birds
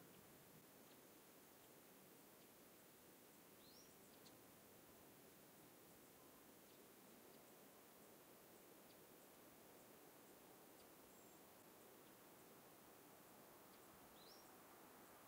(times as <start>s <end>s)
3.2s 4.6s, 6.0s 15.2s